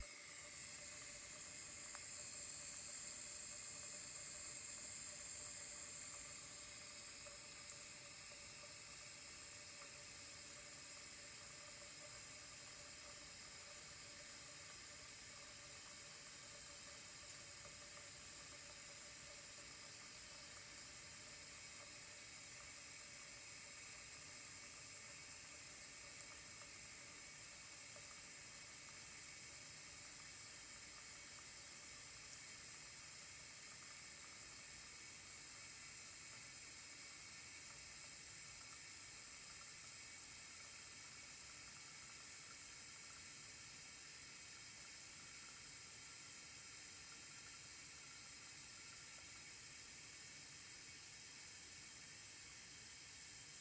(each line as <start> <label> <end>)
0.0 stove-top coffee pot 53.6